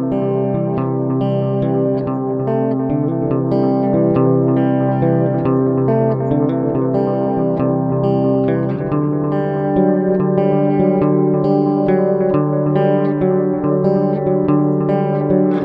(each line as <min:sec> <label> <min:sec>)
0:00.0 electric guitar 0:15.6